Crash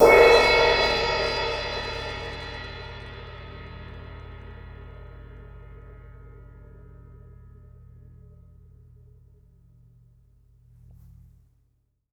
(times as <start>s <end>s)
0.0s 4.0s